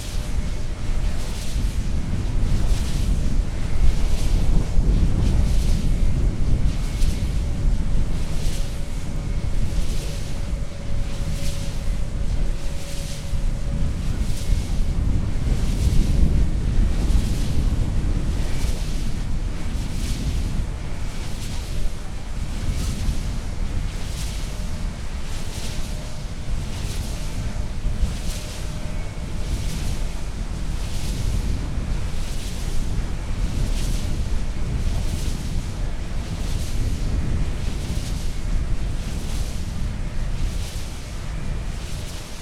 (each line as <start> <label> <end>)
0.0 ripping wind 42.4
0.0 swoosh of the enormous propeller 42.4